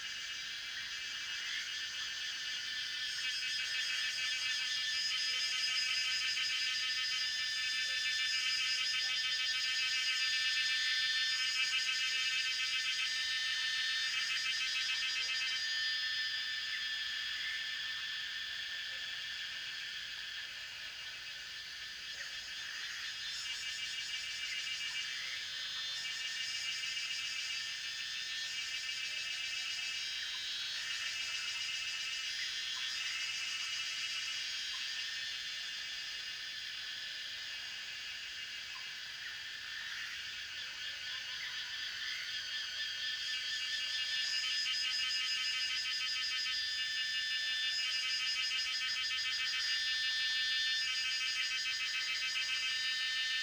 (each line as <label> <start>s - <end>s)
Cicada sounds 0.0s - 53.4s
Frogs chirping 11.5s - 53.4s